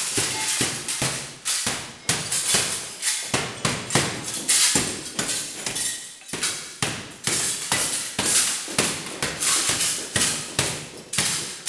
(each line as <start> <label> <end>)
0.0 Breaks huge mirrors 11.6